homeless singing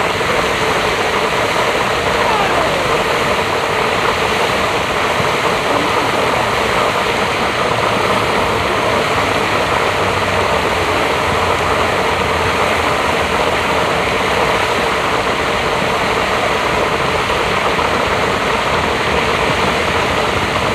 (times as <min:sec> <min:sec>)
0:01.6 0:11.1